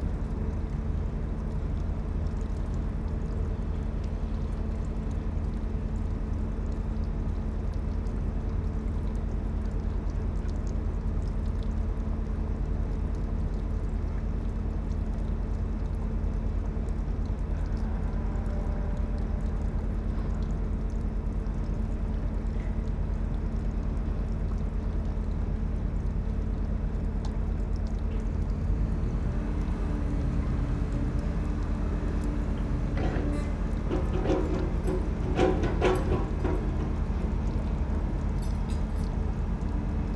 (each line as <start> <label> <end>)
0.0 water drips from a hydrant 40.1
32.4 positioning of a steel girder by using an excavator 37.5